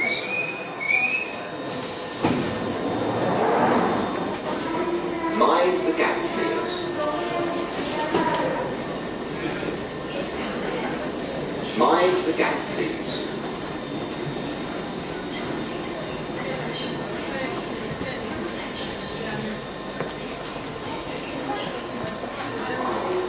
0.0s people 23.2s
0.0s train arriving and departing 23.2s
3.2s announcement 10.4s
11.0s announcement 19.6s

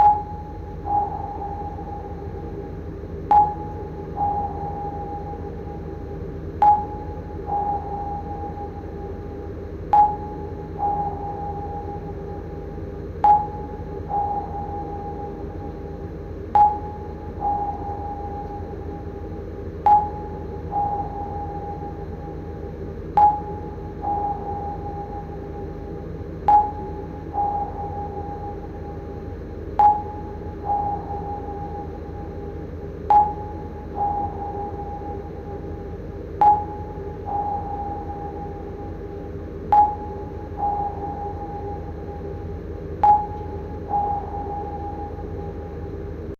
0.0s submarine sonar blip 46.3s

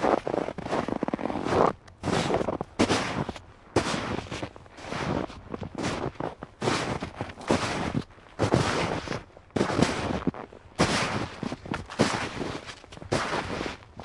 0.0s walking on snow of various depths 14.0s

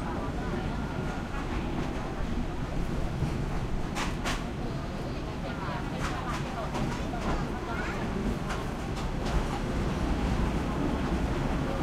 0.0s passenger commuter train 11.8s
0.1s thai chatter walla 11.8s

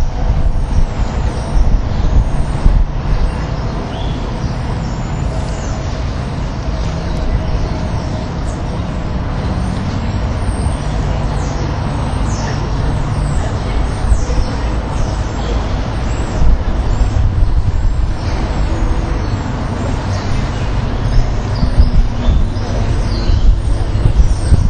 0.0s Starlings 24.6s

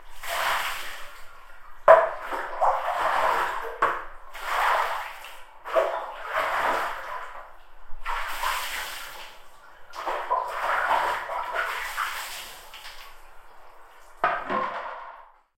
0.0s water 15.5s

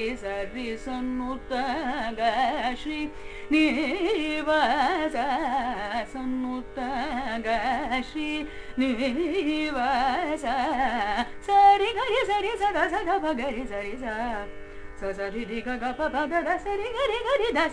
0.0s Carnatic varnam 17.7s

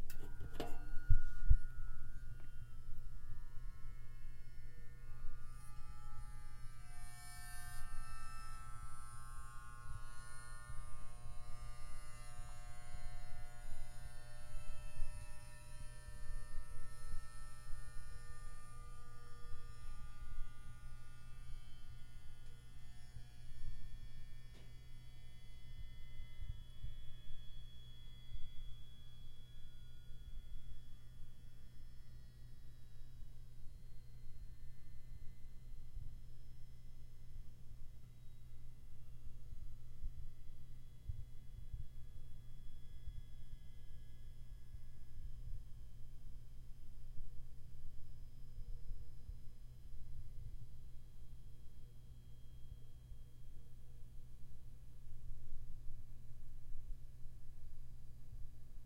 0.0s space heater 58.8s

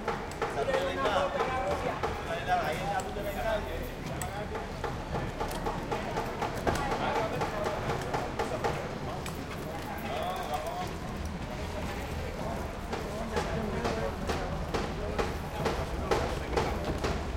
0.0s street Old Havana day activity 17.3s

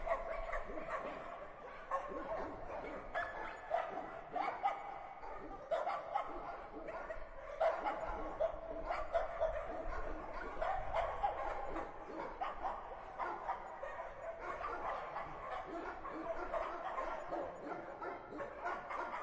0.0s barking 19.2s

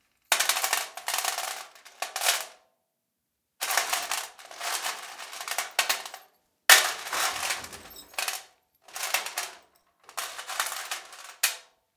7.1s screws, nails, buts, etc in a (plastic) toolbox 8.3s

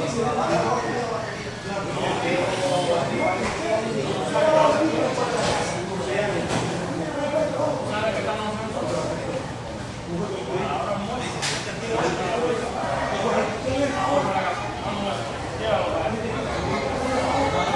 0.0s little spanish walla with some roomy echo 17.7s

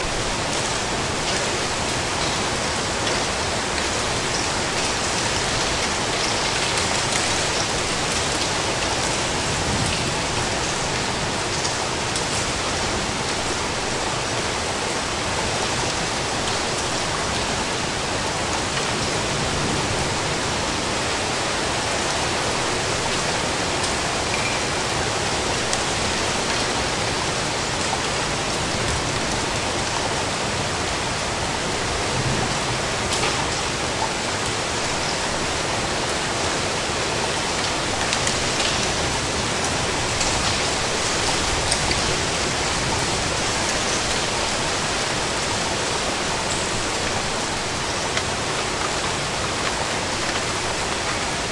0.0s Rain 51.5s
31.8s thunder 34.0s

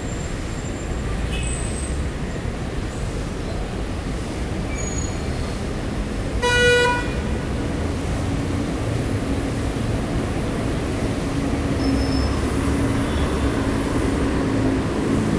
0.0s cars 15.3s

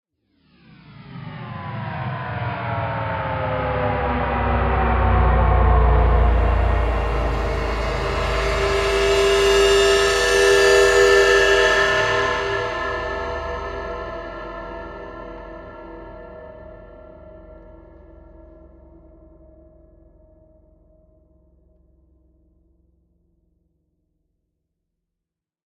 5.2s Cymbal 21.2s

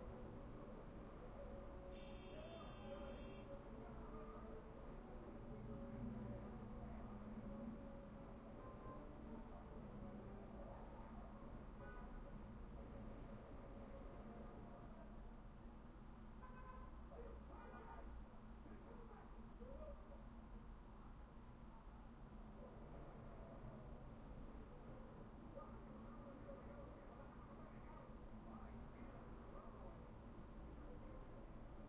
0.0s television in the apartment next door 15.8s
16.6s television in the apartment next door 20.6s
21.6s television in the apartment next door 31.8s

